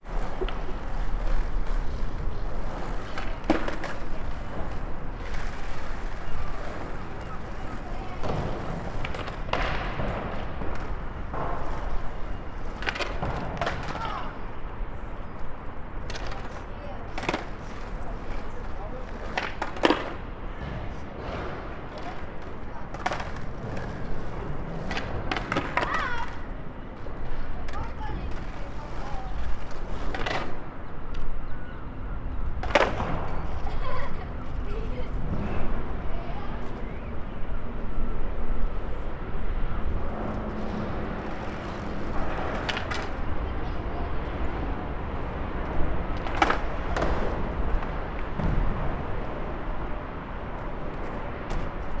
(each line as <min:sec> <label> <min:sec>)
0:00.0 skateboarder 0:52.0